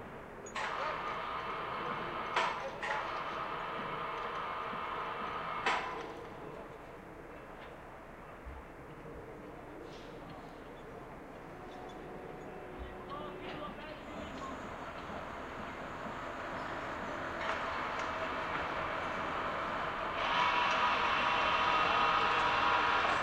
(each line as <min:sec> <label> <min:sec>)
0:00.0 construction 0:23.2
0:00.0 working cranes 0:23.2
0:09.5 traffic 0:23.2